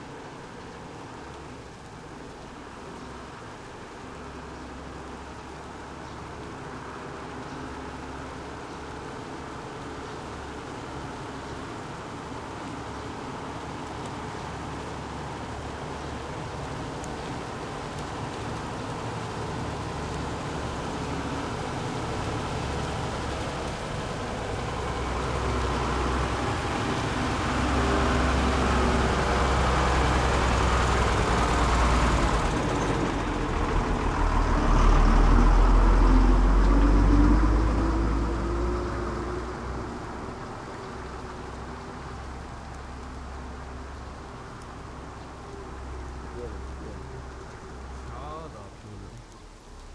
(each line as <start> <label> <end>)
0.0 rain 49.9
24.6 Truck passed high speed 40.4